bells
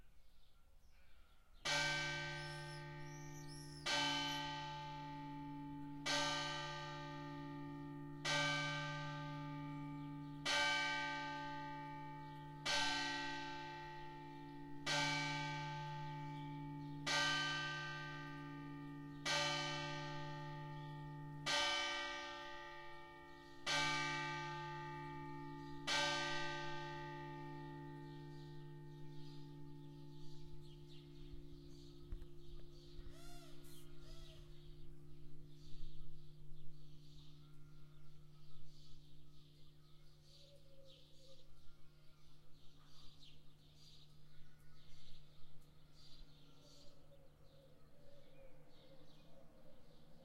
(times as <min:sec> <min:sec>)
0:01.6 0:40.0